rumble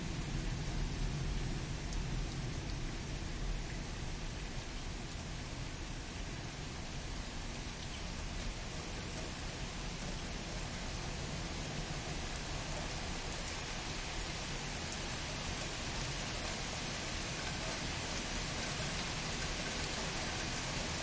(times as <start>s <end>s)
0.0s 6.9s